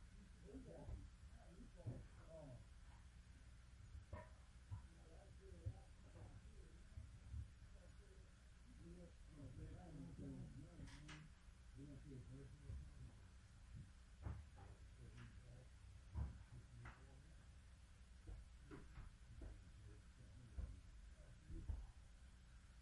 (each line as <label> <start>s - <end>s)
voice 0.2s - 2.6s
voice 4.9s - 7.0s
voice 7.8s - 13.2s
men working on the floor 8.7s - 17.4s
voice 14.6s - 17.4s
men working on the floor 18.2s - 22.0s